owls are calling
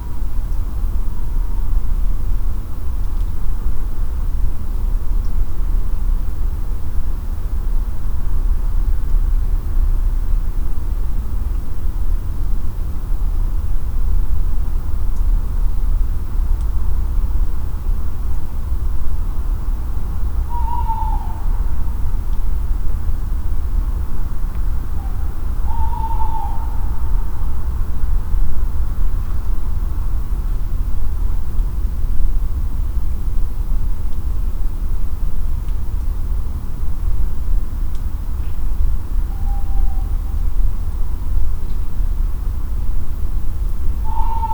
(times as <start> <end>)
20.4 22.2, 24.8 27.7, 39.2 40.4, 43.9 44.5